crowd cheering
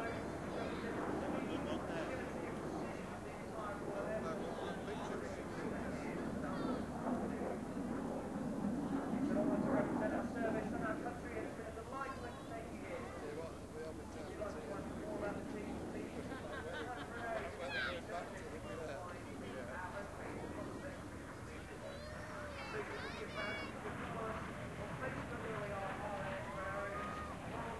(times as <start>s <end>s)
25.1s 27.7s